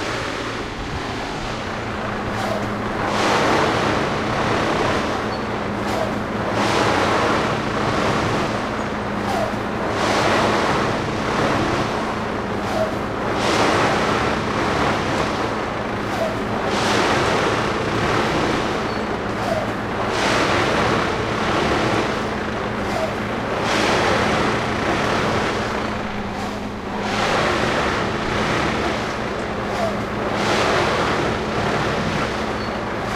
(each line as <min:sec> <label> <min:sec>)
0:00.0 construction 0:33.1